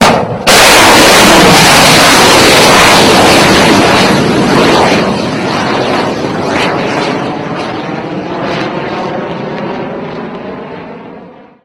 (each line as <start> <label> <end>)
0.0 explosion 6.4
0.0 Tomahawk Missile Rocket Launch 9.7